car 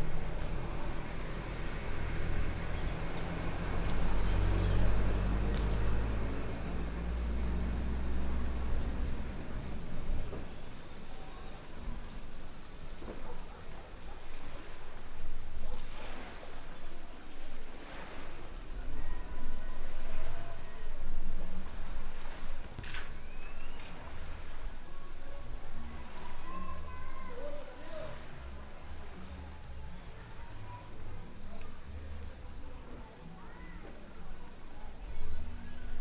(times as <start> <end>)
0.0 10.8